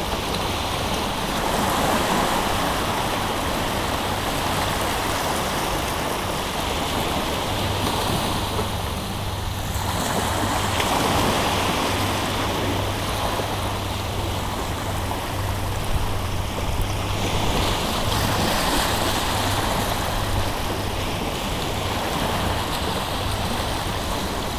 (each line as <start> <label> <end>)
0.0 sea 24.5